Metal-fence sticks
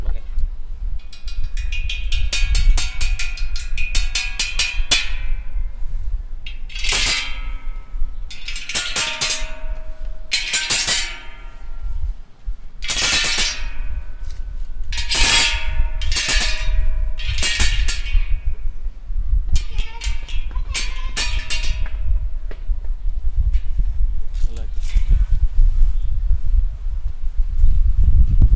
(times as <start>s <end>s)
1.0s 5.6s, 6.4s 12.1s, 12.8s 18.5s, 19.5s 22.6s